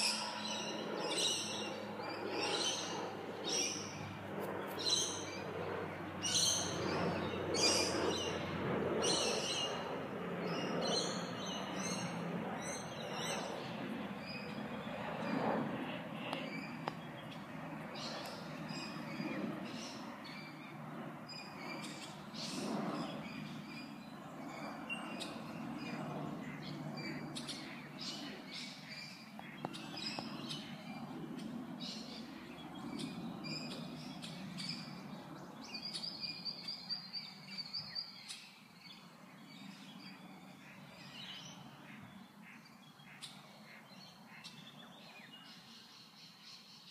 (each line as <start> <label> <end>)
0.0 bird tweets and chirps 15.6
16.2 bird tweets and chirps 46.9